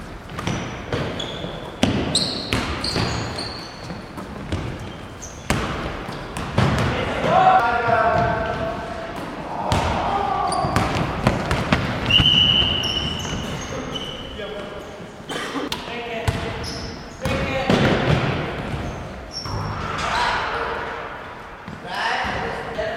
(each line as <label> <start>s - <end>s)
gym hall basketball match 0.0s - 22.9s